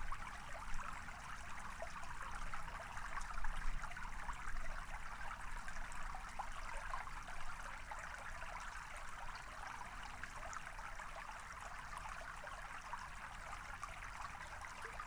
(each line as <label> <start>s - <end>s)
river 0.0s - 15.0s